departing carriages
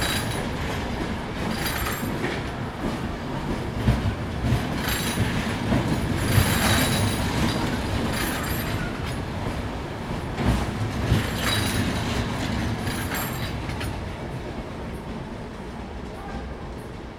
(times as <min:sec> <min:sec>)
0:03.8 0:14.0